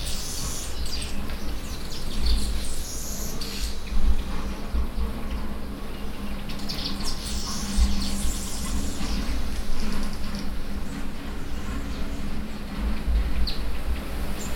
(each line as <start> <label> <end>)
0.0 weaver birds in the mnemu trees 14.5